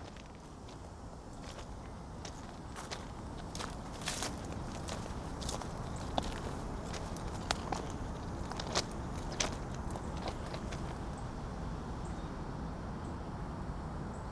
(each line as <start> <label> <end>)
3.4 Train Strain 11.3